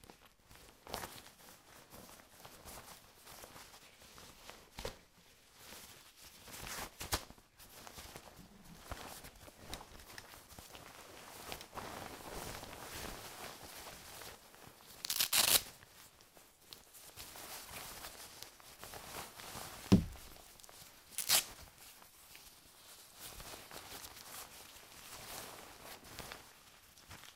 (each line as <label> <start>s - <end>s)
rustle 5.6s - 15.8s